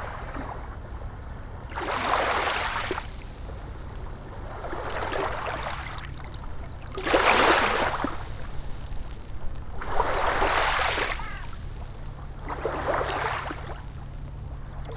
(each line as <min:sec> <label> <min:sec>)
0:01.7 sloshing waves over pebbles 0:14.9